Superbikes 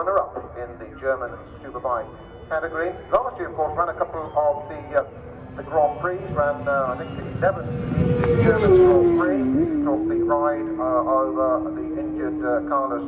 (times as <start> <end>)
3.7 13.0